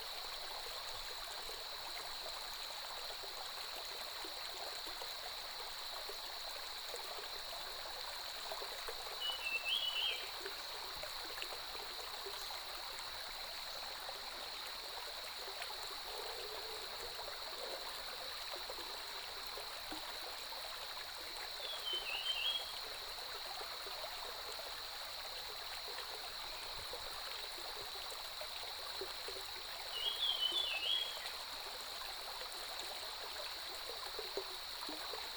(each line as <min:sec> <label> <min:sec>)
0:00.0 Stream 0:35.3
0:09.2 Cicadas cry 0:10.4
0:21.5 Cicadas cry 0:23.2
0:29.8 Cicadas cry 0:31.4